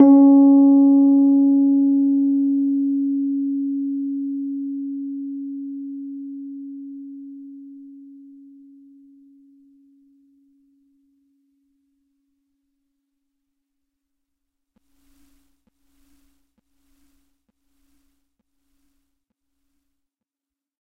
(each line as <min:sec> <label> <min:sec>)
0:00.0 Individual notes from my Rhodes 0:08.8